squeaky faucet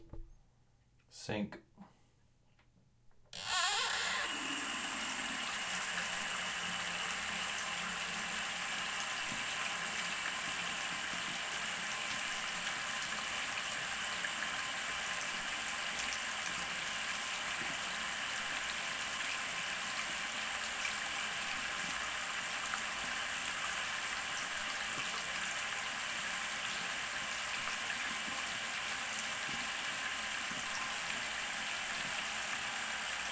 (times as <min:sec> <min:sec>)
0:03.4 0:04.5